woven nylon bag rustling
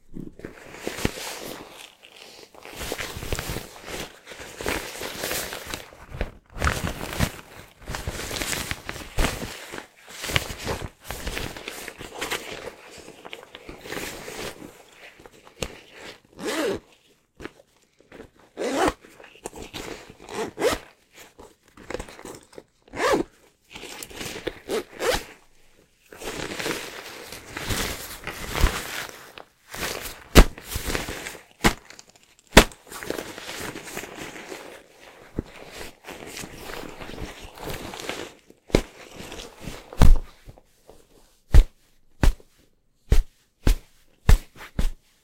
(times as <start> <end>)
26.1 40.0